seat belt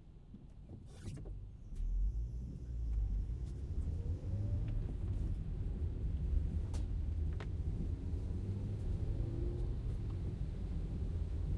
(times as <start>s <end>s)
0.7s 1.4s